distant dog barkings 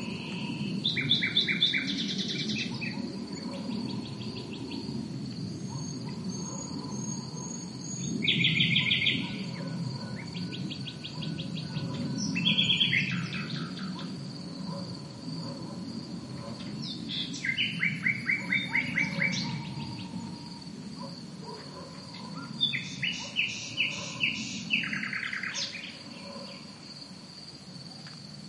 0:02.6 0:04.2, 0:05.6 0:07.8, 0:08.8 0:10.4, 0:11.0 0:12.2, 0:13.6 0:17.1, 0:18.2 0:26.8

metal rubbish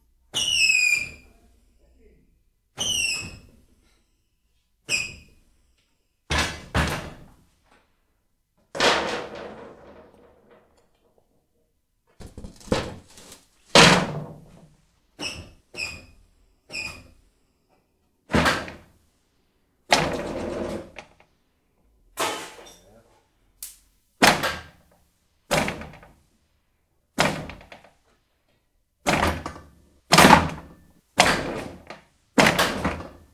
0:08.7 0:11.0, 0:12.2 0:14.6

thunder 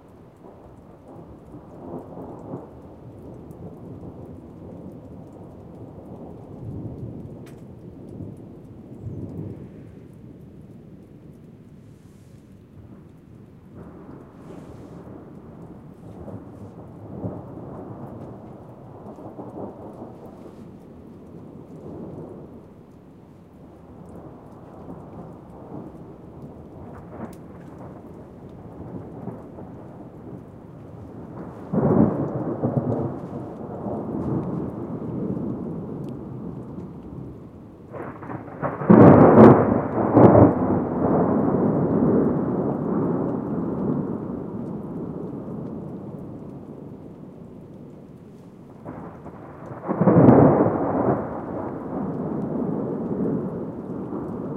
0:11.9 0:22.8, 0:23.8 0:54.5

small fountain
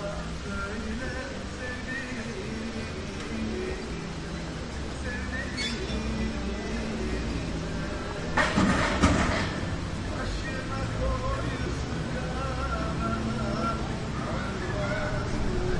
0:00.0 0:08.4

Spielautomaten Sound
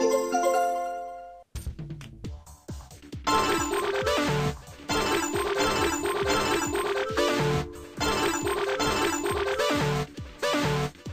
0:03.3 0:10.8

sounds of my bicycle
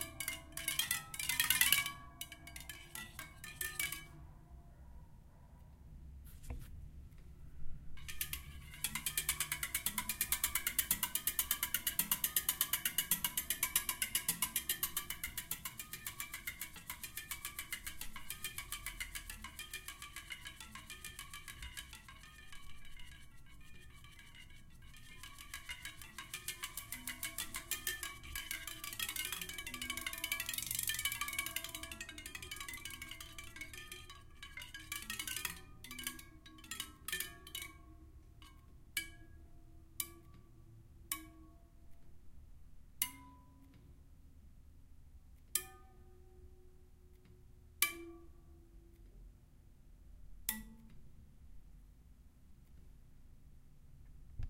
0:30.0 0:31.8

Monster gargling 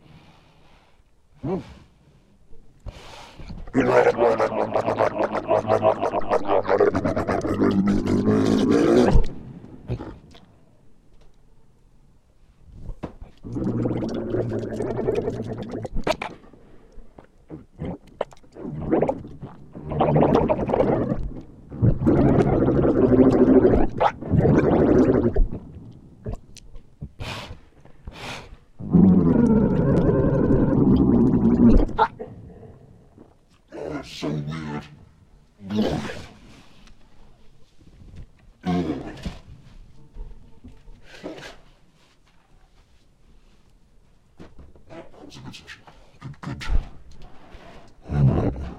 0:03.7 0:09.3, 0:13.4 0:16.2, 0:17.5 0:25.6, 0:28.8 0:33.2

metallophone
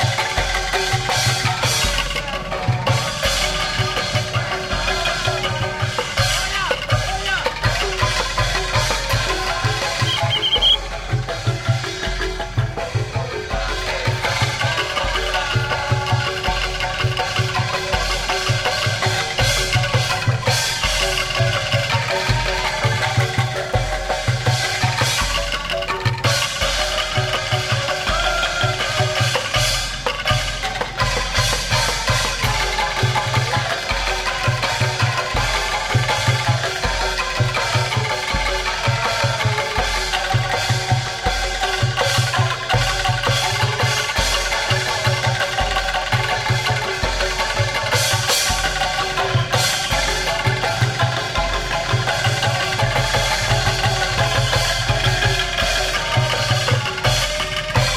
0:03.6 0:12.0

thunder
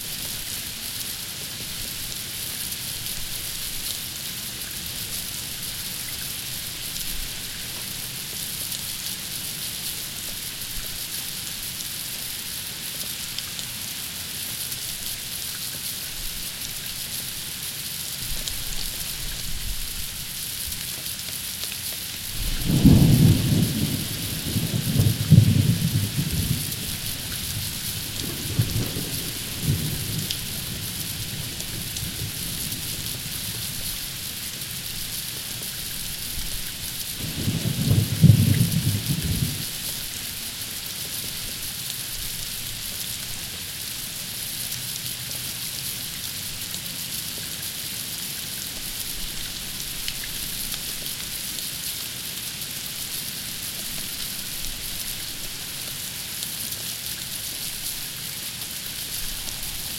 0:22.4 0:32.4, 0:37.2 0:39.7

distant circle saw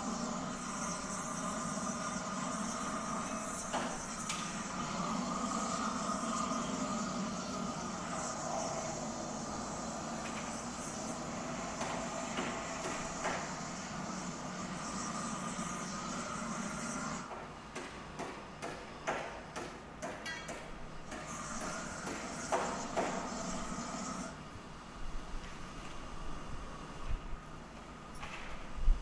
0:00.0 0:17.4, 0:21.1 0:24.4

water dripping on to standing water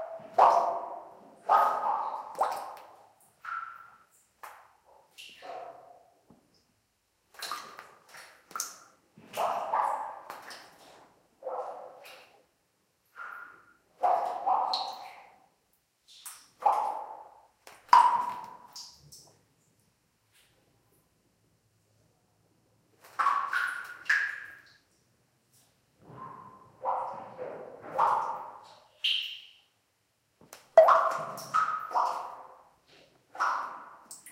0:00.0 0:05.4, 0:07.3 0:11.0, 0:13.1 0:19.5, 0:23.0 0:25.7, 0:30.4 0:32.6, 0:33.2 0:34.3

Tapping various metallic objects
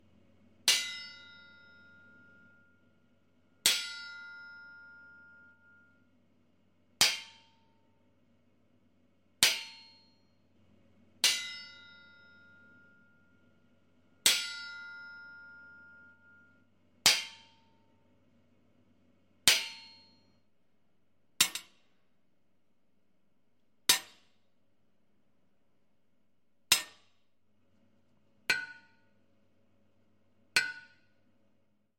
0:21.4 0:22.0, 0:23.9 0:24.4, 0:26.7 0:27.2, 0:28.5 0:29.2, 0:30.6 0:31.2

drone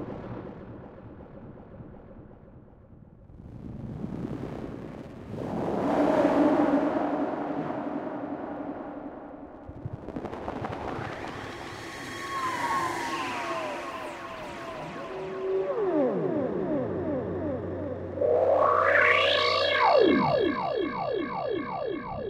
0:05.4 0:22.2

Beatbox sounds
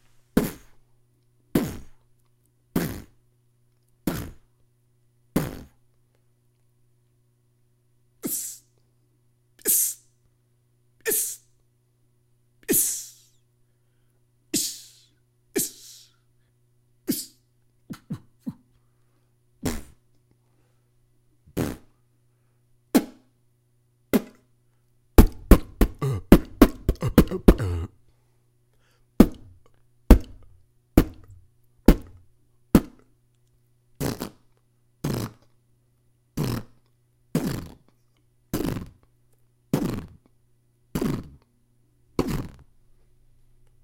0:00.4 0:00.8, 0:01.5 0:02.1, 0:02.7 0:03.2, 0:04.0 0:04.5, 0:05.4 0:05.8, 0:08.2 0:08.7, 0:09.6 0:10.0, 0:11.0 0:11.4, 0:12.6 0:13.4, 0:14.6 0:16.2, 0:17.1 0:18.8, 0:19.6 0:20.0, 0:21.5 0:22.0, 0:22.9 0:23.3, 0:24.1 0:24.5, 0:25.2 0:27.9, 0:29.2 0:32.2, 0:32.8 0:33.1, 0:34.0 0:35.5, 0:36.4 0:37.9, 0:38.5 0:39.1, 0:39.7 0:40.3, 0:40.9 0:41.5, 0:42.2 0:42.7

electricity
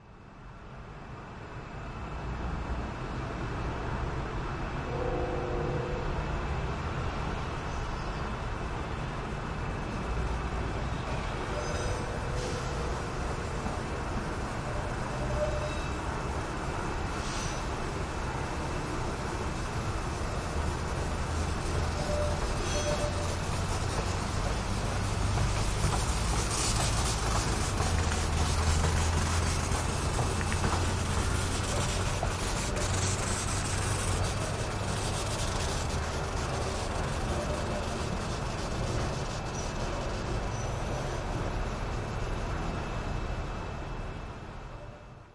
0:19.2 0:40.5

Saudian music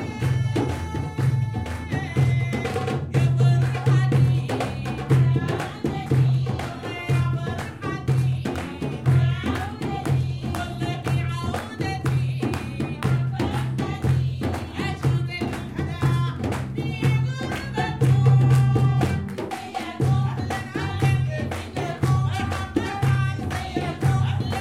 0:00.0 0:03.2

